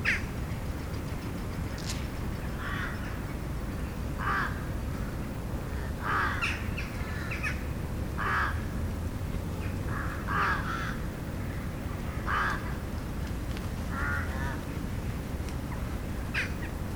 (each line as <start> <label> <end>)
0.0 Crows at dusk 3.4
4.2 Crows at dusk 8.8
9.6 Crows at dusk 13.0
13.8 Crows at dusk 14.9
15.7 Crows at dusk 16.8